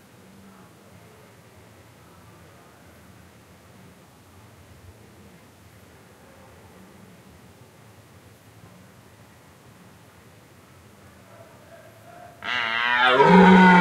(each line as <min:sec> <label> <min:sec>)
0:12.2 Deer calling and rutting 0:13.8